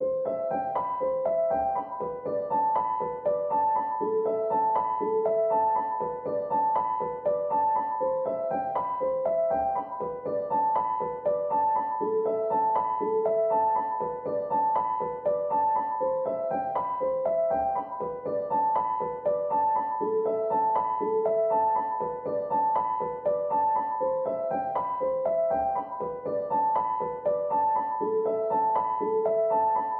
0.0s piano 29.9s

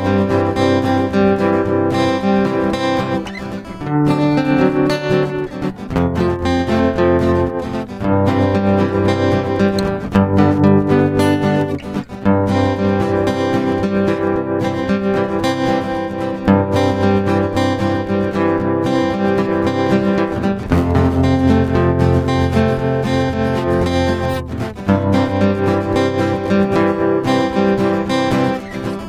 0.0s guitar 29.0s

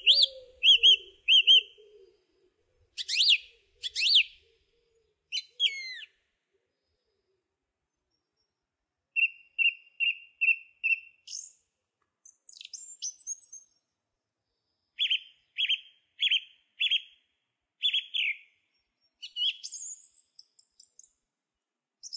0.0s Song Thrush singing from a branch 7.1s
8.1s Song Thrush singing from a branch 11.6s
12.2s Song Thrush singing from a branch 13.9s
14.6s Song Thrush singing from a branch 17.2s
17.8s Song Thrush singing from a branch 21.2s

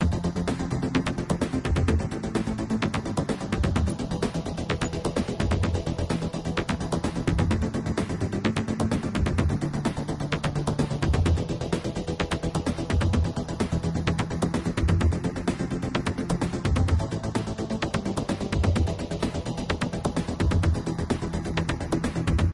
0.0s synth 22.5s

